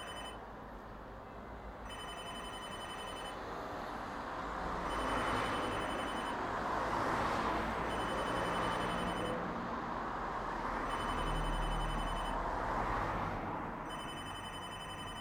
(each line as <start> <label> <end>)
0.0 telephone booth bell 0.4
0.0 traffic on the road 15.2
1.9 telephone booth bell 3.4
4.9 telephone booth bell 6.4
7.9 telephone booth bell 9.4
10.9 telephone booth bell 12.4
13.9 telephone booth bell 15.2
13.9 bell-ringing practice 15.2